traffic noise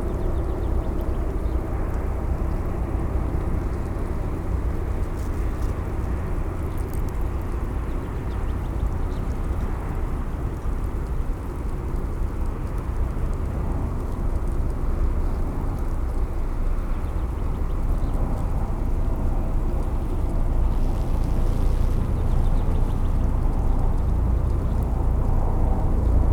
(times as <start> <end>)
16.6 26.3